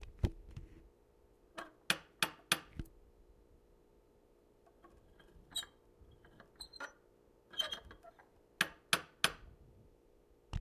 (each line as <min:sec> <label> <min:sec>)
0:01.8 tapping door knocker on outside of apartment door 0:02.8
0:08.6 tapping door knocker on outside of apartment door 0:09.5